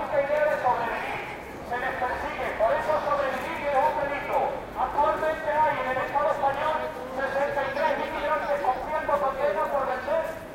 speech using a megaphone 0.0 - 10.5
marching 0.0 - 10.5
voices of passing people 0.0 - 10.5

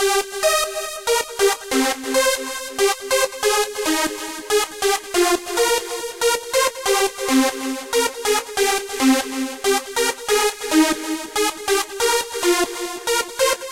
bass 0.0 - 13.7

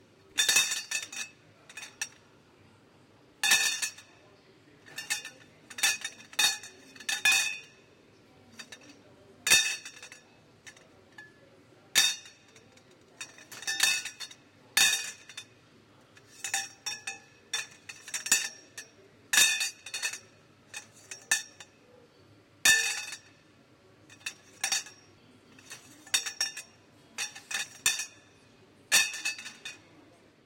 Metal pipe pieces dropping into component bin 0.4 - 2.2
Metal pipe pieces dropping into component bin 3.4 - 4.1
Metal pipe pieces dropping into component bin 4.9 - 7.7
Metal pipe pieces dropping into component bin 8.6 - 8.9
Metal pipe pieces dropping into component bin 9.5 - 11.3
Metal pipe pieces dropping into component bin 12.0 - 15.5
Metal pipe pieces dropping into component bin 16.2 - 18.8
Metal pipe pieces dropping into component bin 19.4 - 21.7
Metal pipe pieces dropping into component bin 22.7 - 23.3
Metal pipe pieces dropping into component bin 24.1 - 28.2
Metal pipe pieces dropping into component bin 28.9 - 29.8

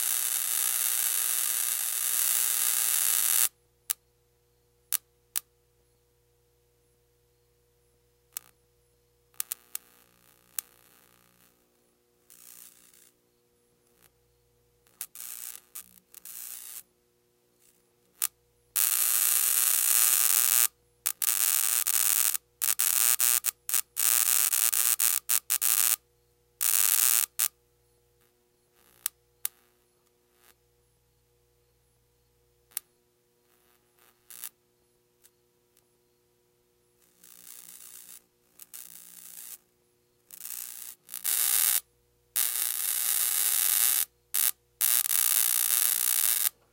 bug zapper 0.0 - 3.5
bug zapper 12.3 - 13.2
bug zapper 14.9 - 16.9
bug zapper 17.6 - 26.0
bug zapper 34.1 - 34.6
bug zapper 37.0 - 39.6
bug zapper 40.3 - 41.8
bug zapper 42.4 - 46.6

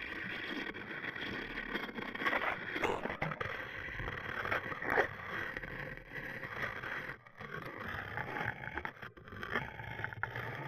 Giant Fan Scraped With Contact Mic 0.0 - 10.6

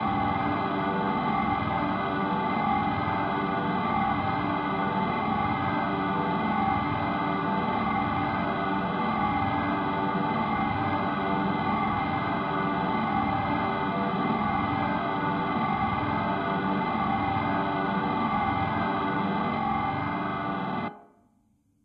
drone 0.0 - 20.9

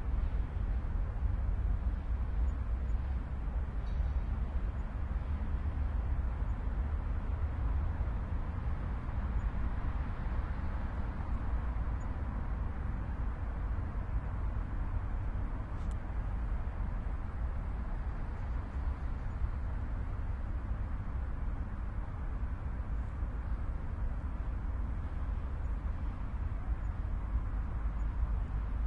cars 0.0 - 28.8

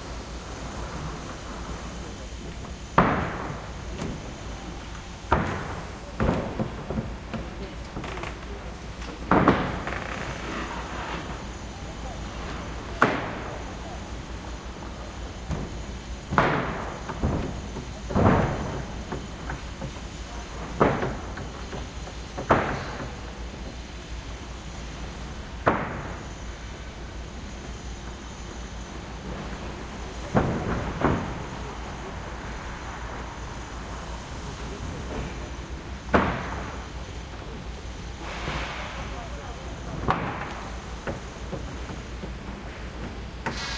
workers 0.0 - 43.7

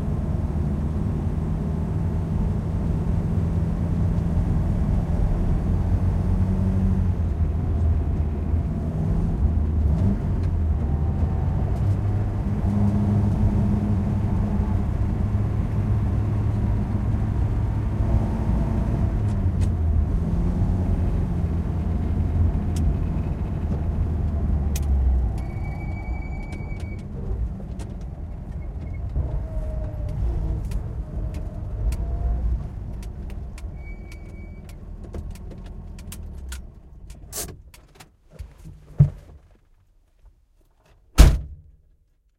driving on asphalt on a winding road 0.0 - 41.4
car door 41.1 - 41.6

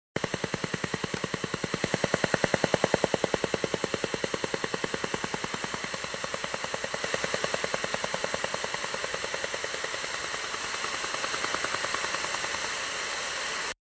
Tapping pulse sound 0.2 - 12.9

